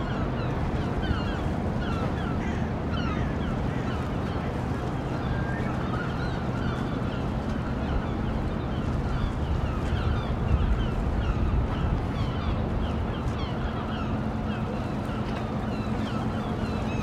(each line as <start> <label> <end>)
0.0 Ship Sounds 17.0